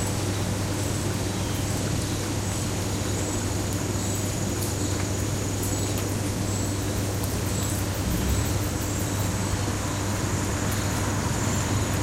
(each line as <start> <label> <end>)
0.0 rain 12.0
0.0 cricket 12.0
7.8 cars going by in the distance 12.0